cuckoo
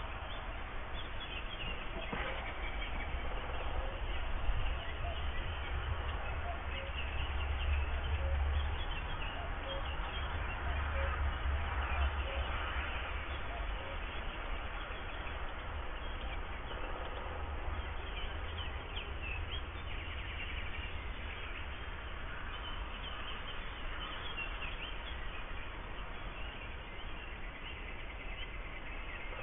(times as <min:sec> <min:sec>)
0:01.7 0:05.5, 0:06.2 0:07.1, 0:07.9 0:08.6, 0:10.6 0:11.2